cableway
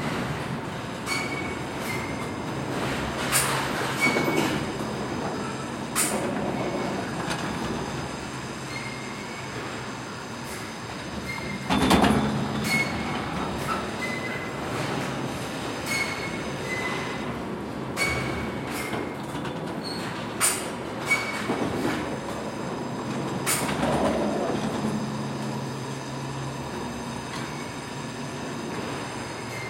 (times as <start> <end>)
21.1 29.6